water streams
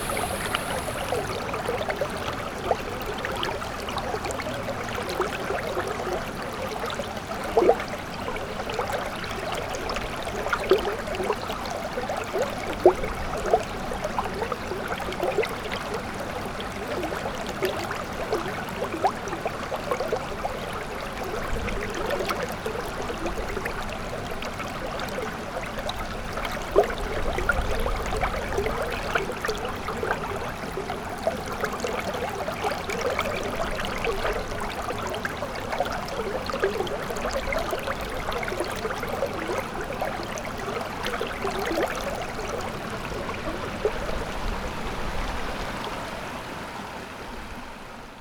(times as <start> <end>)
0.0 1.4